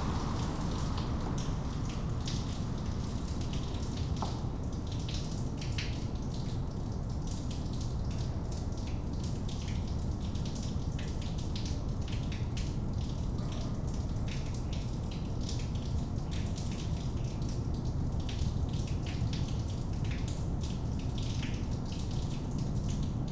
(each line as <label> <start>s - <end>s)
train comes by 0.0s - 4.6s
cars pass the bend in the road 0.0s - 5.0s
storm drain in the neighborhood dripping 0.0s - 23.3s